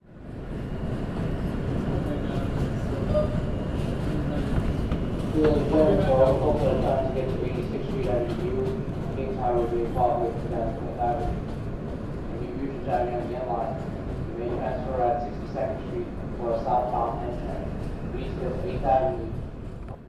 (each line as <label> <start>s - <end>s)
Subway train, in transit 0.0s - 20.0s
PA voice 5.4s - 11.4s
PA voice 12.3s - 19.4s